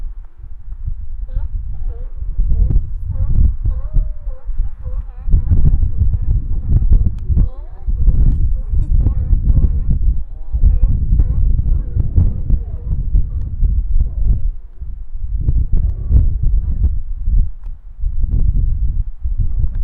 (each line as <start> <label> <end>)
0.0 Distant Sea Lions 17.4
0.0 terrible wind rumble 19.8